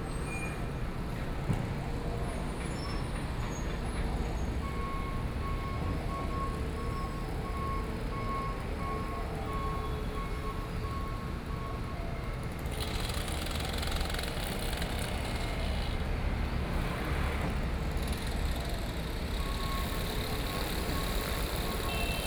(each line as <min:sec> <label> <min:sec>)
0:10.6 Traffic Sound 0:22.2
0:10.8 Construction noise 0:22.2
0:12.6 Mower 0:22.2